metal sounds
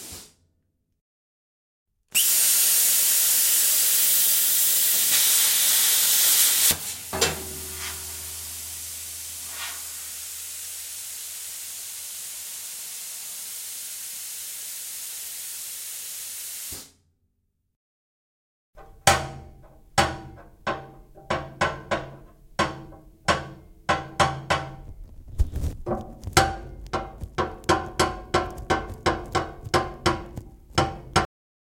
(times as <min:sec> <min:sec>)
0:06.6 0:10.3, 0:18.8 0:31.3